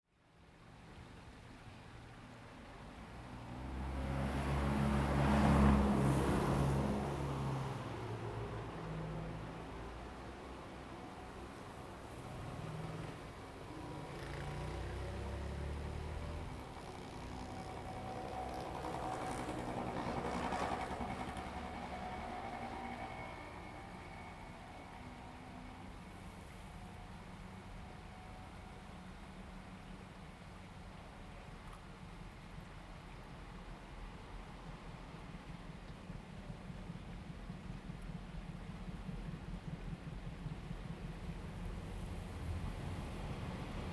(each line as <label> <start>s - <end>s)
Train traveling through the sound 1.1s - 43.9s
Traffic Sound 3.5s - 29.8s